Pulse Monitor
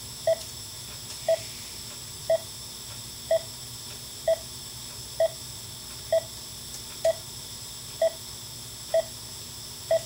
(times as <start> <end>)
0.0 0.5, 2.2 7.4, 8.0 9.2, 9.8 10.0